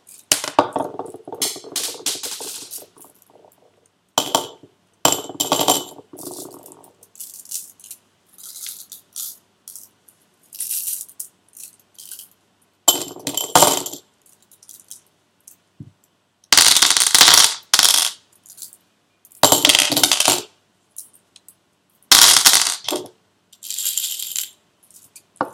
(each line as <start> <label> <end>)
0.1 small stones 3.8